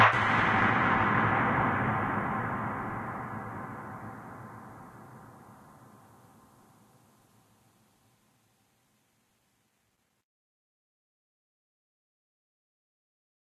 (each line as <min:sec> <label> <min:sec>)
0:00.0 Suspense echo hit 0:06.7